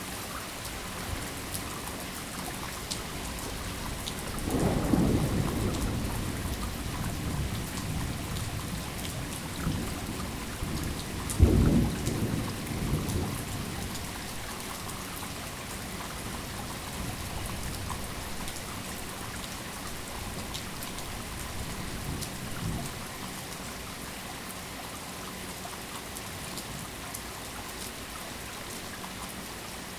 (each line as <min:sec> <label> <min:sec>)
0:00.0 Rain dripping off of roof 0:29.9
0:04.2 distant thunder 0:14.6